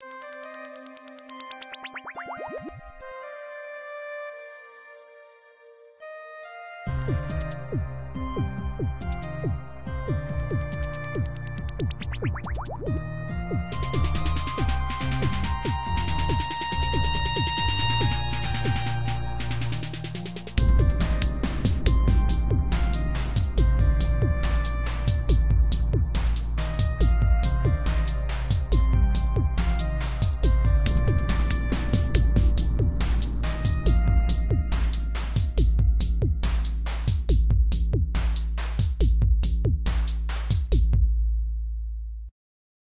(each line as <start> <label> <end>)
1.9 Bubble 3.0
12.0 Bubble 12.9